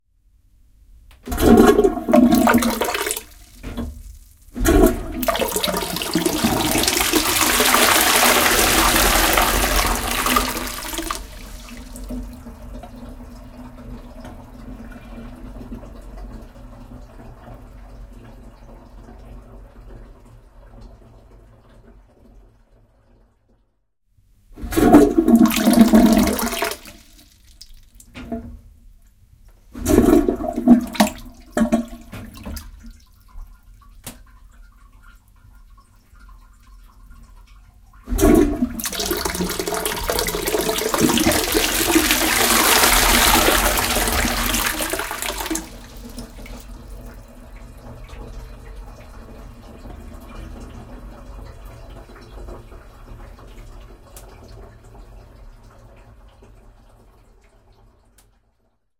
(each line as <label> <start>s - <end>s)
Weak Toilet Flush 1.2s - 23.4s
Weak Toilet Flush 24.6s - 28.8s
Weak Toilet Flush 29.6s - 58.3s